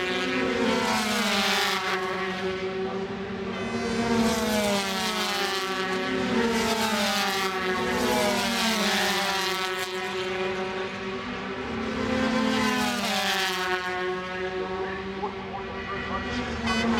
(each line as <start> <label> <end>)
0.0 125cc motorcycle race 16.9